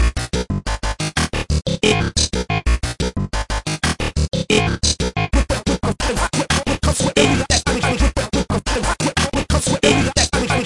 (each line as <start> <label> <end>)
0.0 Small techno loop (180bpm) with industrial sounds 10.6